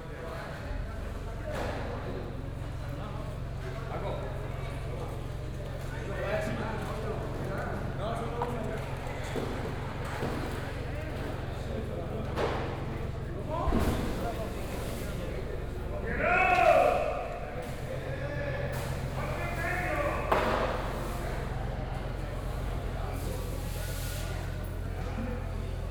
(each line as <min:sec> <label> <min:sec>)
0:16.0 shouts 0:17.4